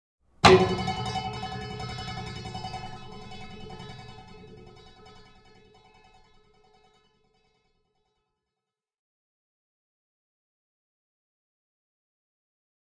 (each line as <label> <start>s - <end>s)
strings 0.4s - 6.5s